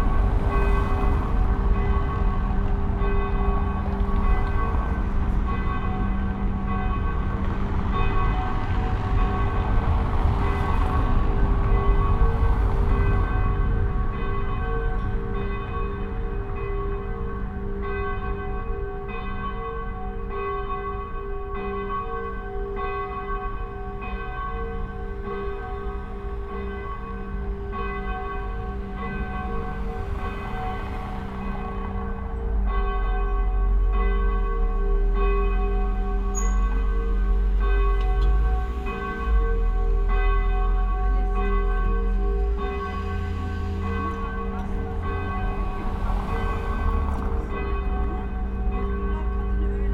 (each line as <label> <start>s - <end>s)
St Michael church's ringing 0.0s - 49.9s